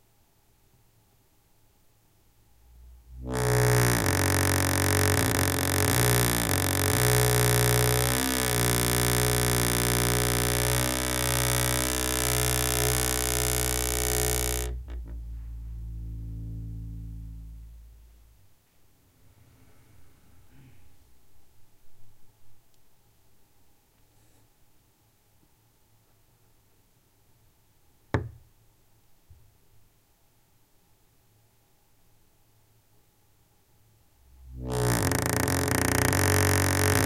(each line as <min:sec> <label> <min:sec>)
0:03.1 creaky door moved very slowly 0:17.6
0:34.4 creaky door moved very slowly 0:37.0